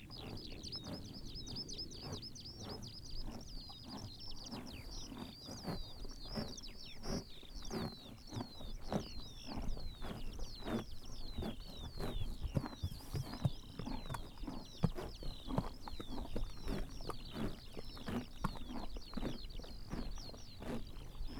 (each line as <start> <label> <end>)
0.0 horses eating grass 21.3